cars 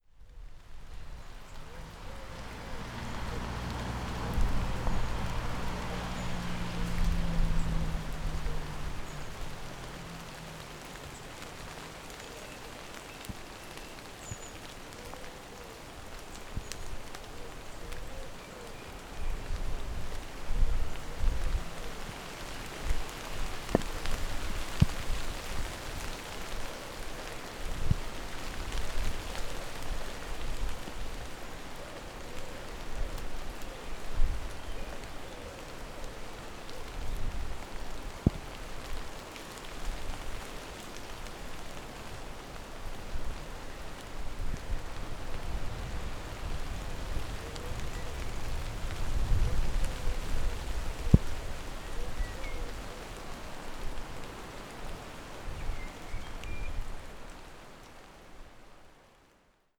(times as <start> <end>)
1.2 13.4